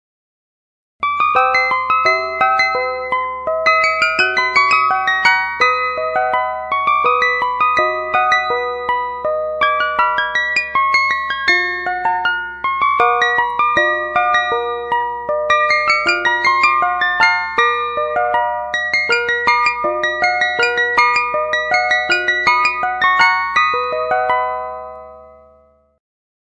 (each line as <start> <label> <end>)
3.7 old style clockwork chime 9.0
12.7 old style clockwork chime 25.2